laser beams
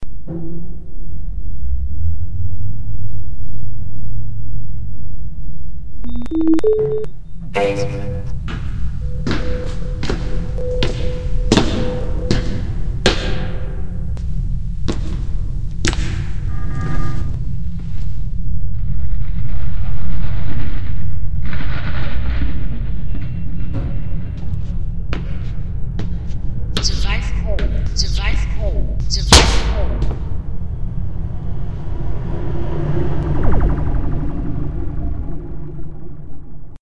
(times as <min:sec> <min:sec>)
0:33.1 0:36.7